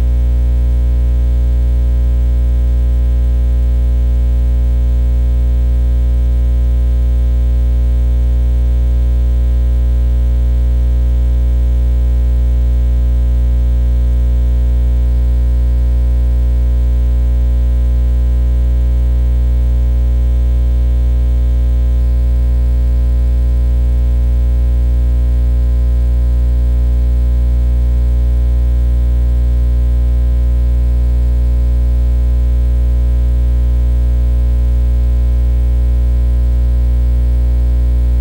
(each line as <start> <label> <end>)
37.9 ground hum 38.2